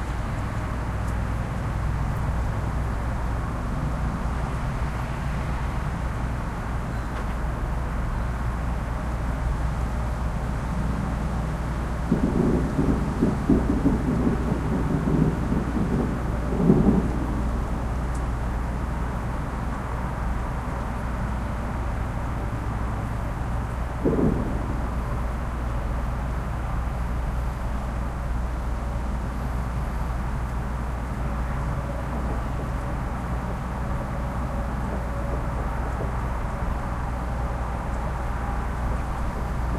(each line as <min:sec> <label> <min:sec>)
0:00.0 other suburban sounds 0:39.7
0:11.8 distant fireworks 0:19.3
0:23.9 distant fireworks 0:28.4
0:31.1 distant fireworks 0:39.7